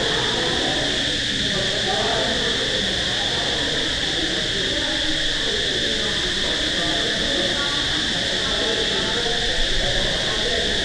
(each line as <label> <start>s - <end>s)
Crickets 0.0s - 10.8s